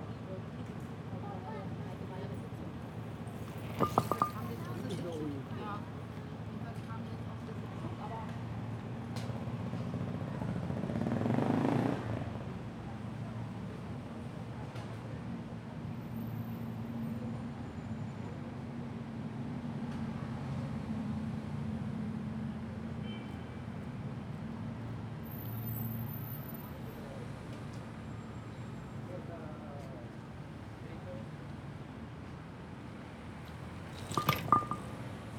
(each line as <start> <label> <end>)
3.2 Loose paving slab in the bicycle lane 5.8
33.4 Loose paving slab in the bicycle lane 35.3